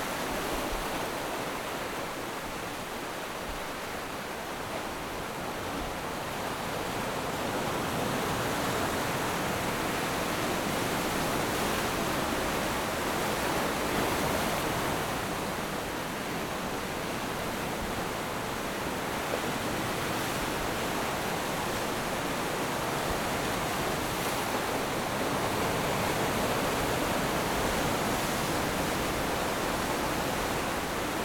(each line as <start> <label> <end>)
0.0 waves 31.2